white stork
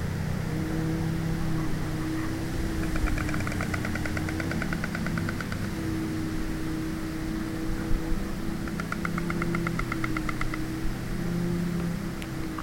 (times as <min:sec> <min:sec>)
0:01.2 0:06.0